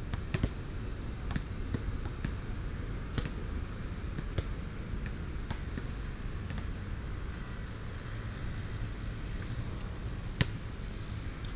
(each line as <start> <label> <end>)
0.0 basketball 11.5